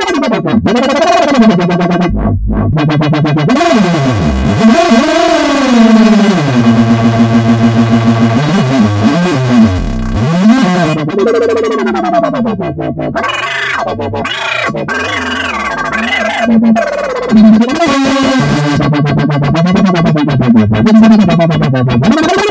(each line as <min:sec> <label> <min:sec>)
0:00.0 Angry Wobbles 0:22.5